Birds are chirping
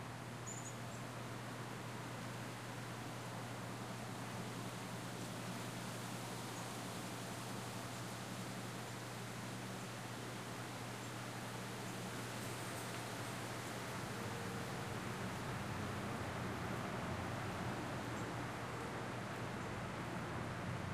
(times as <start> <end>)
0.4 1.1